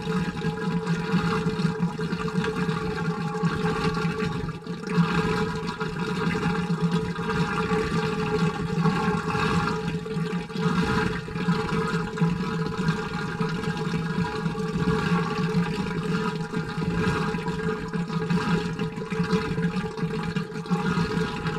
water pool machine 0.0 - 21.5

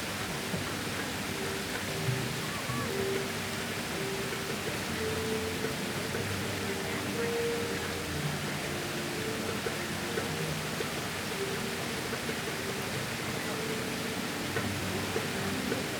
fountain water fizzes 0.0 - 15.9
Tourists from all nations still group here, sitting around the edge, chatting 0.0 - 15.9

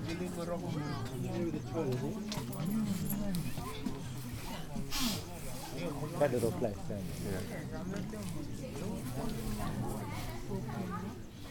Men sitting and drinking Kava, chatting 0.0 - 11.2

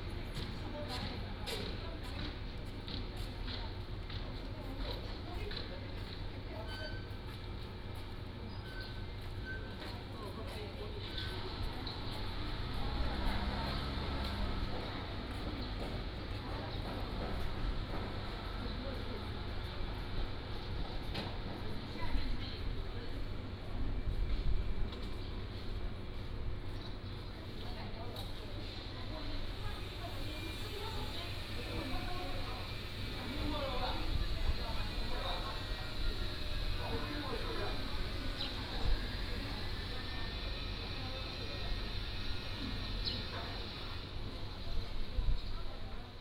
Traffic Sound 12.2 - 19.7

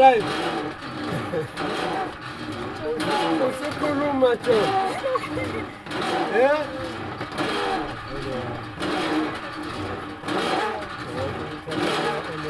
laughter 0.8 - 2.2
laughter 2.9 - 7.3

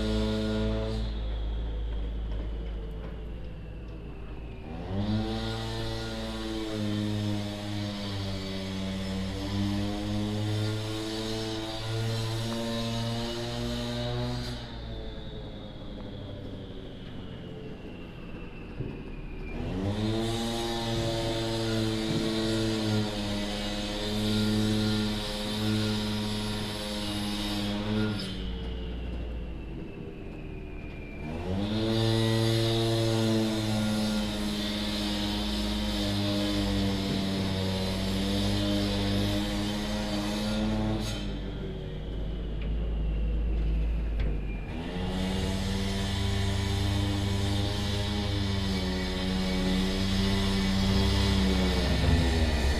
other engines that are busy working 0.0 - 52.7
passing by construction wagon 0.0 - 52.7

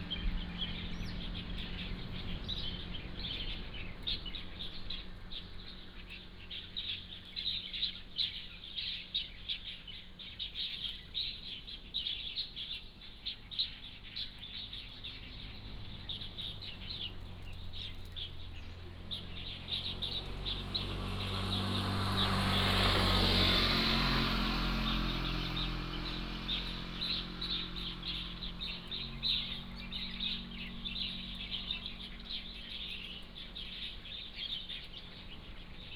Birdsong 0.0 - 35.9
Traffic Sound 0.0 - 35.9

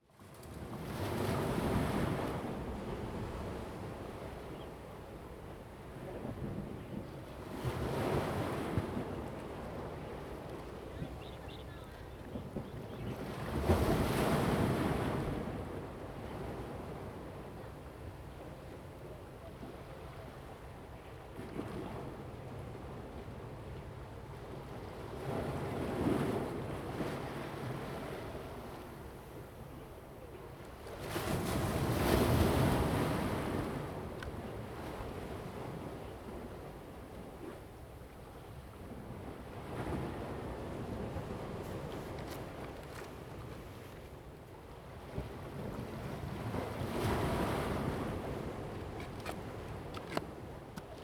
waves 0.2 - 51.0

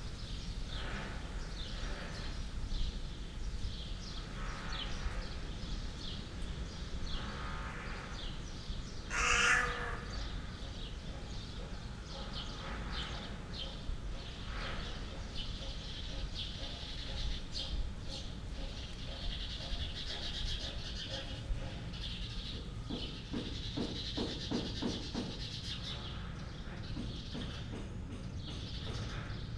dun crow 9.1 - 10.4

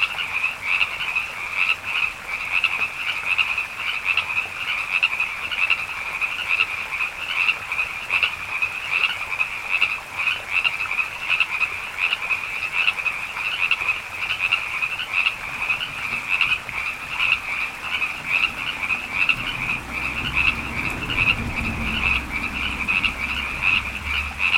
Frogs 0.0 - 24.5

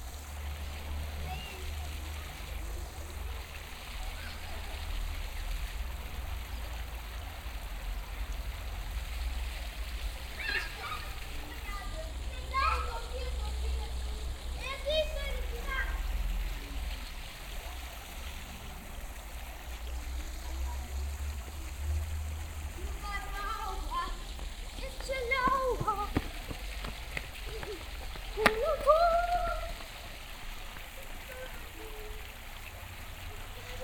water fountain 0.0 - 33.8
children running around, screaming in local tongue 10.2 - 13.4
children running around, screaming in local tongue 23.0 - 32.2

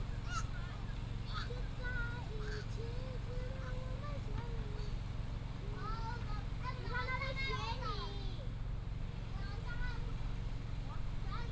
School children's voice 5.7 - 8.4

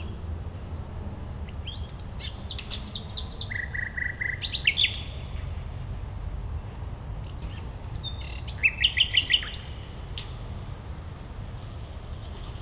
nightingale 1.5 - 5.4
nightingale 7.5 - 10.4

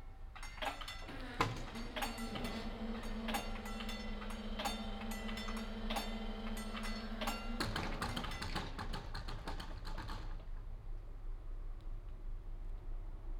gates open 0.3 - 9.2
lowering gates 0.3 - 10.5
warning bells 0.4 - 8.8

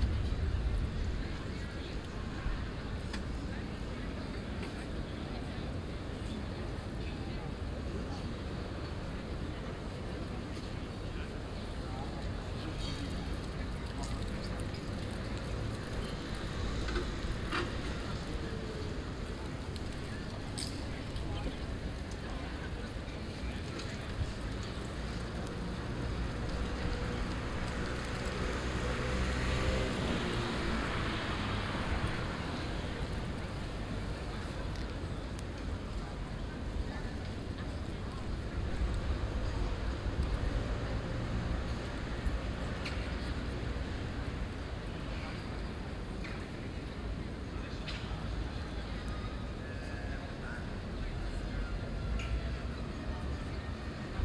People on café terraces 0.0 - 54.2

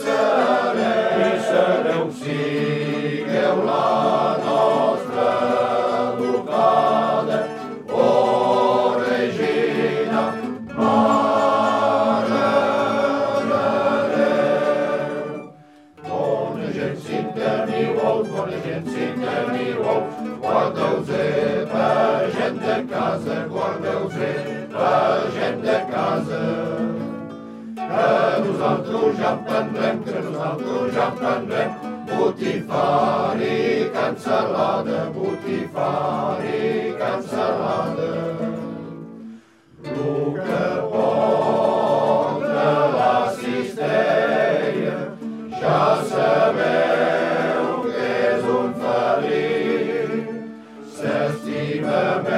hymns sung by male choirs 0.0 - 52.3

